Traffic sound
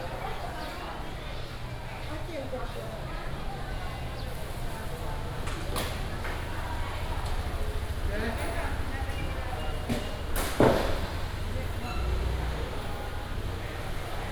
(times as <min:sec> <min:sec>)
0:03.0 0:14.3